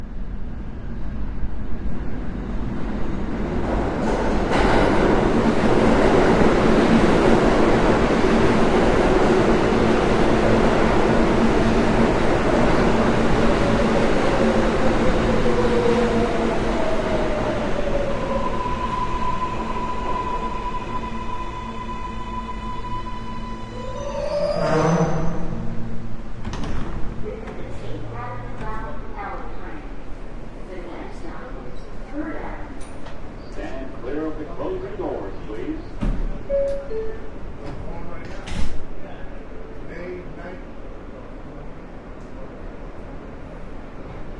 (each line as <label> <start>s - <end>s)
subway stops 0.0s - 44.3s
doors close 26.4s - 27.7s
doors open 26.4s - 27.7s
conversation 27.2s - 41.6s
recorded announcement 27.2s - 29.9s